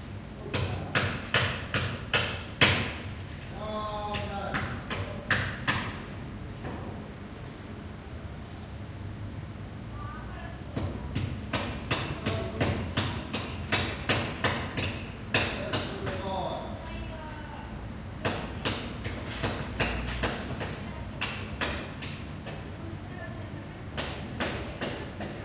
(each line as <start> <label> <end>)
3.6 people talking 5.3
20.7 people talking 21.4
22.7 people talking 25.4